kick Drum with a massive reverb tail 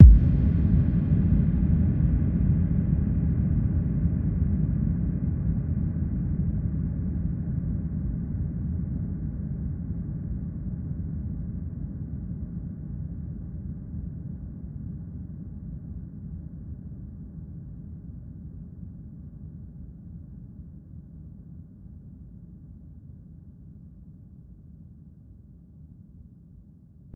0:00.0 0:02.2

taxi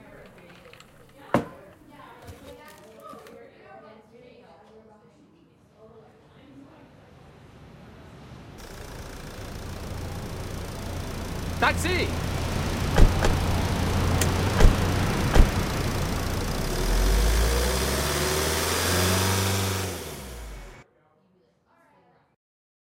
0:08.6 0:20.8

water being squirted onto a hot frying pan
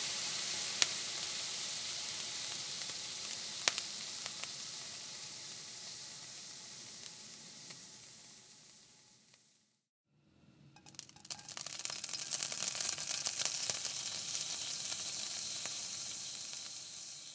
0:10.8 0:17.3

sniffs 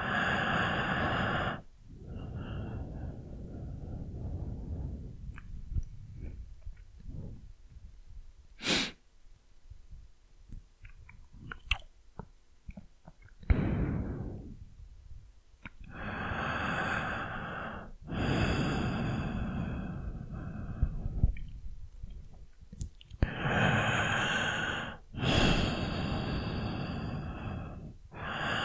0:08.6 0:09.0

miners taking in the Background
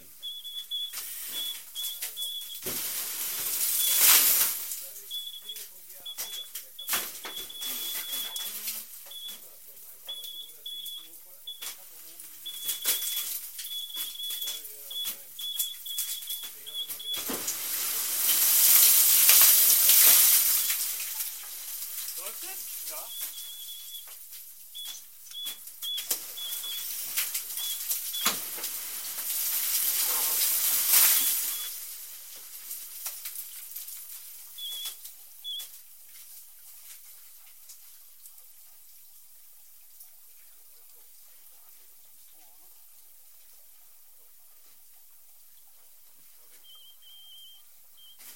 0:00.0 0:28.6, 0:40.1 0:48.3

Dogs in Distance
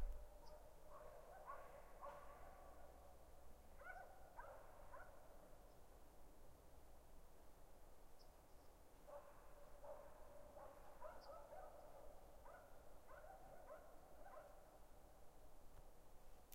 0:00.0 0:03.0, 0:09.1 0:14.8

